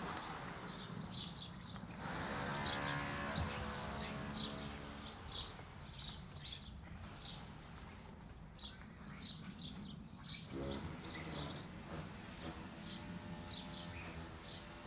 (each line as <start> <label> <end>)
0.0 cars 7.9
0.0 birds 14.8
0.2 my footsteps on the pavement 10.5
9.7 cars 14.8